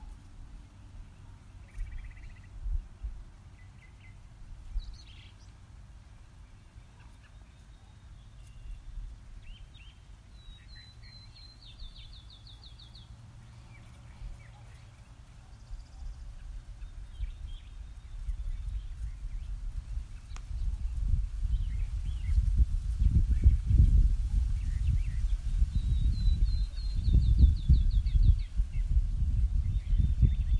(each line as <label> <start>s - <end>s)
birds chirping 0.0s - 2.6s
Light traffic in the distance 0.0s - 22.9s
slight breeze 0.0s - 30.5s
birds chirping 6.2s - 30.5s